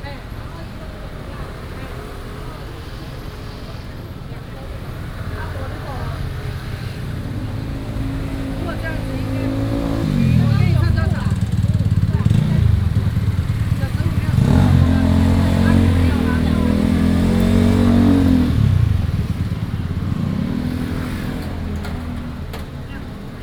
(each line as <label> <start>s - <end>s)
Traffic Sound 0.0s - 23.4s